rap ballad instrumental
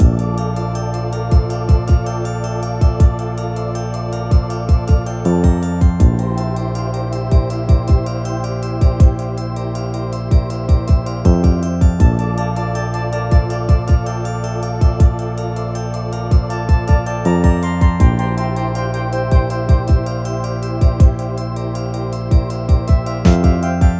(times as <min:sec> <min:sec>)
0:16.3 0:23.9